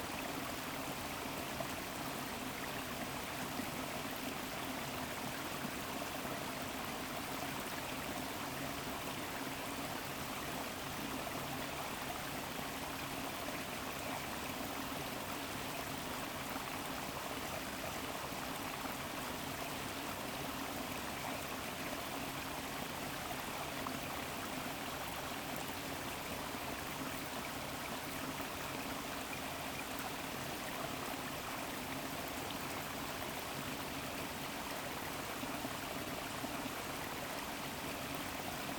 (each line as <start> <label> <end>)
0.0 streamflow from the valley of the mills 38.7